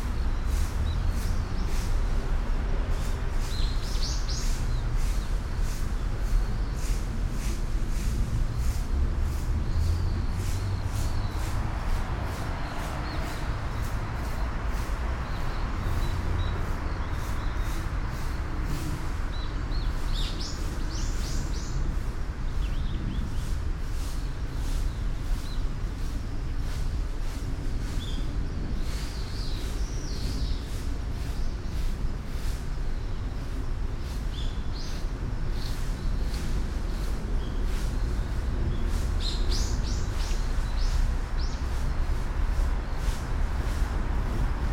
0.0s birds 44.7s
0.0s traffic noise 44.7s

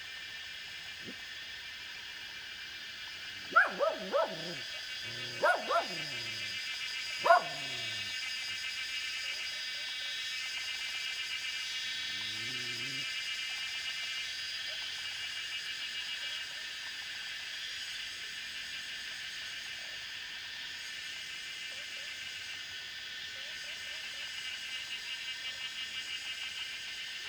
3.2s Cicada sounds 8.2s
3.4s Dogs barking 6.6s
7.2s Dogs barking 8.2s
11.0s Cicada sounds 13.2s
12.1s Dogs barking 13.0s

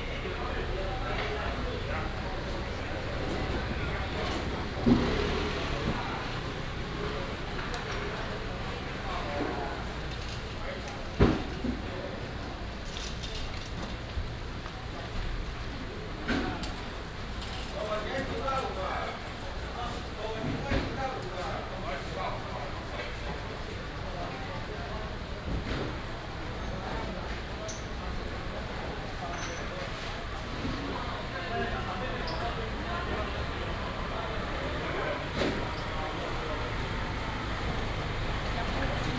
0.0s traffic sound 10.3s
30.2s traffic sound 39.1s

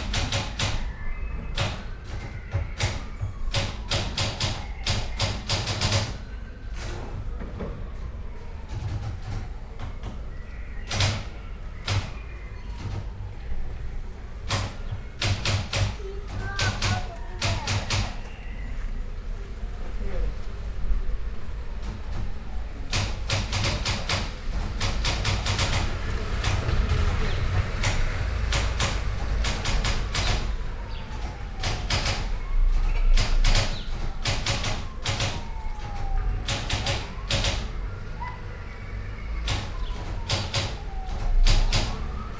0.0s typewriter 6.2s
0.0s wind 42.3s
8.6s typewriter 10.2s
10.8s typewriter 13.1s
14.4s typewriter 18.3s
21.8s typewriter 37.8s
39.4s typewriter 42.3s

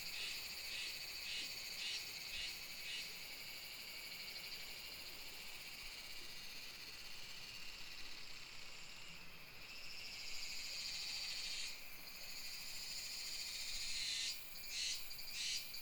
0.0s Cicadas sound 15.8s

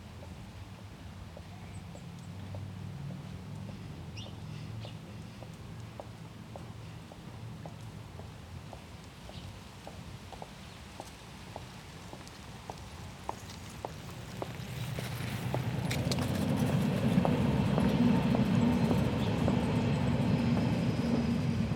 0.0s S-Bahn (urban railway) at regular intervals 21.7s
1.2s passers-by 21.7s

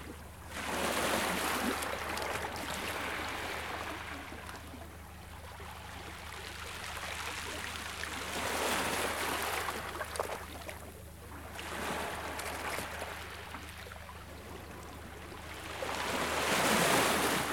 15.0s waves were breaking on the shore 17.5s

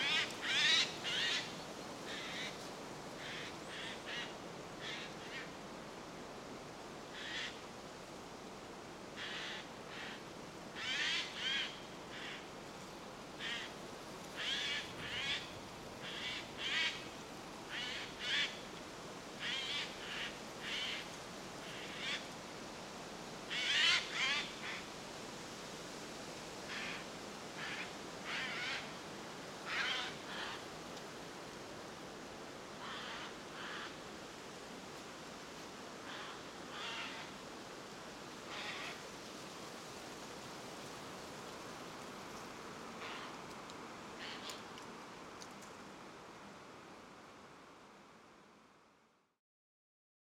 0.0s wind 49.4s

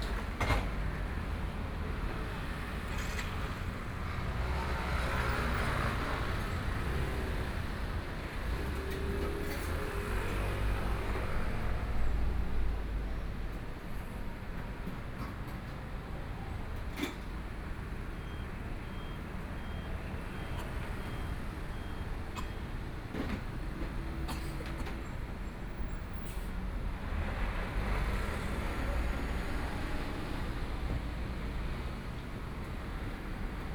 0.0s Traffic Sound 33.7s

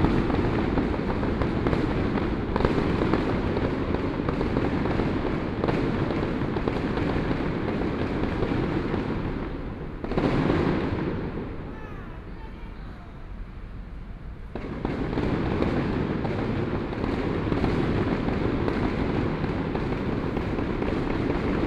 14.5s Fireworks sound 21.6s
19.8s Traffic Sound 21.6s

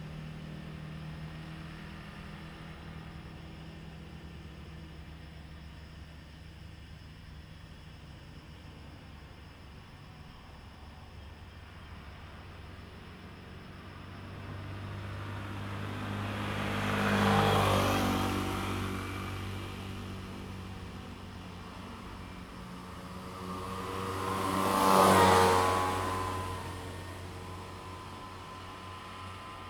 0.1s Cicadas sound 29.6s
11.7s Traffic Sound 29.6s

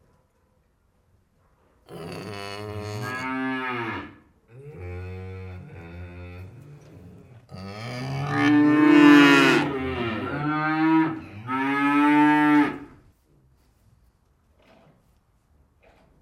1.8s Cow crisis 13.0s

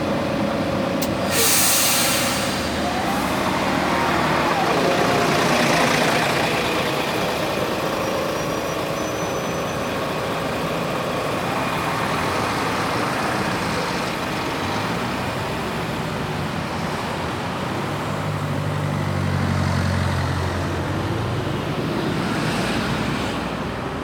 0.0s Traffic jam 24.0s

